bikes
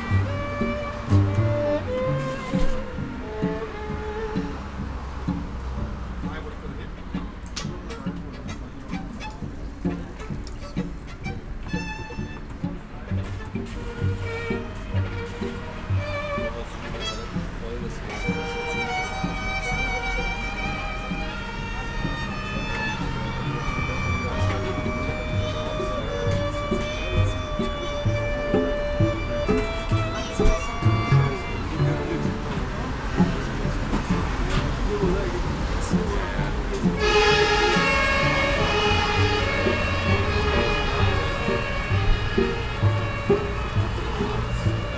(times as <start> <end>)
28.1 44.9